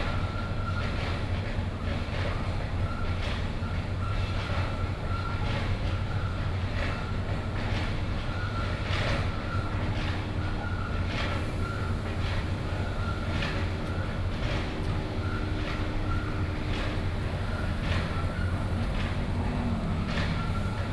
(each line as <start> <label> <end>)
0.0 construction site 20.9
9.0 Traffic Sound 20.9